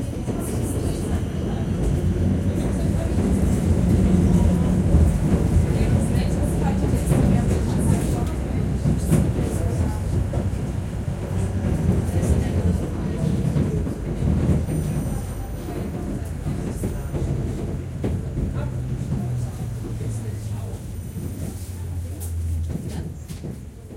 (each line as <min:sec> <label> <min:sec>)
0:00.0 tram ride 0:23.9